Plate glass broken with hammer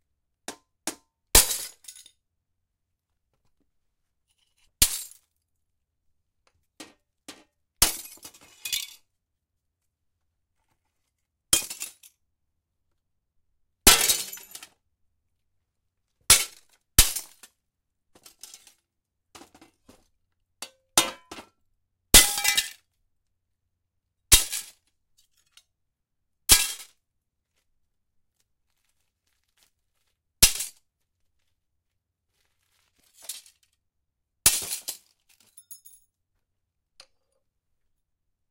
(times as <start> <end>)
13.9 14.6, 22.2 22.8